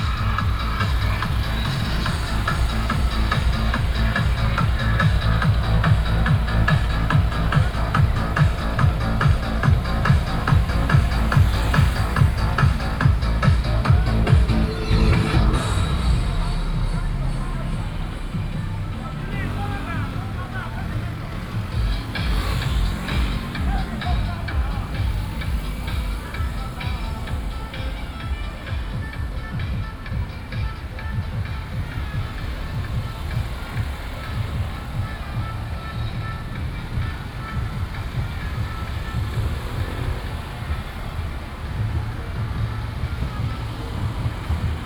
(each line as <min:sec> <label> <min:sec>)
0:00.0 traffic sound 0:44.8